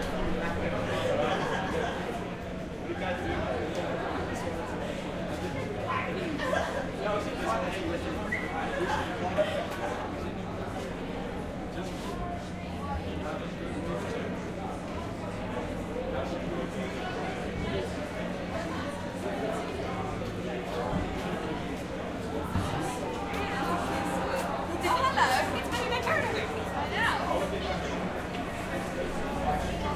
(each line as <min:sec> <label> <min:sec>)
0:00.0 People 0:29.9